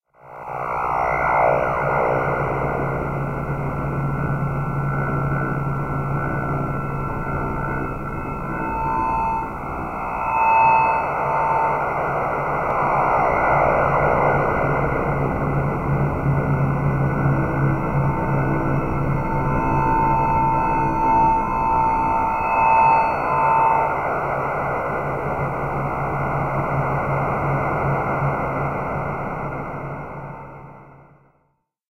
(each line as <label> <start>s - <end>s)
low-pitched drone 0.2s - 31.0s